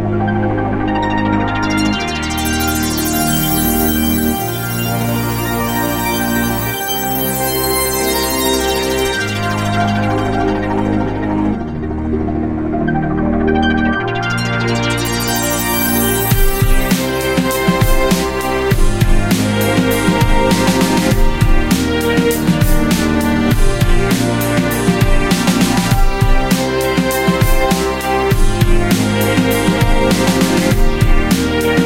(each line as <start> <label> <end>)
0.0 harp 12.3
0.0 Strings 31.8
0.0 synth 31.8
13.9 harp 31.8
15.1 Drums 31.8